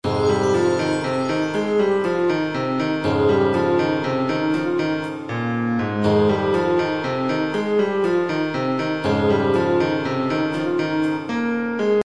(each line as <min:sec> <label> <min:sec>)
0:00.0 piano 0:12.0